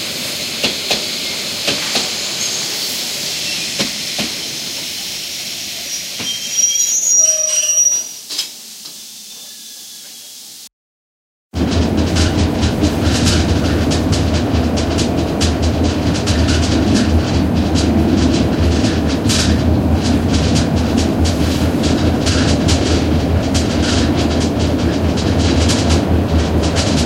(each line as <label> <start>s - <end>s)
steam-train, squeaking and rattling inside 0.0s - 10.6s
hiss of the steam 0.0s - 10.7s
train approaching in the station 0.0s - 10.7s
squeaking of the brakes 5.7s - 10.6s
steam-train, squeaking and rattling inside 11.6s - 27.0s
train approaching in the station 11.6s - 27.0s